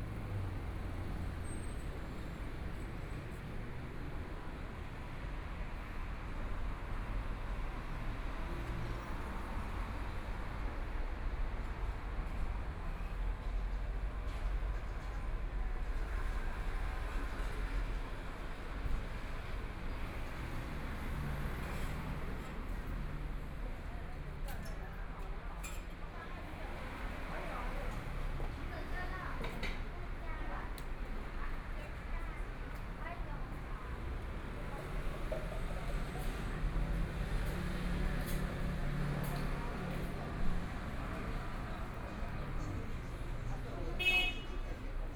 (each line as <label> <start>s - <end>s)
Traffic Sound 0.0s - 11.8s
Sound various shops and restaurants 0.0s - 45.1s
Traffic Sound 25.8s - 45.1s
walking on the Road 26.2s - 45.1s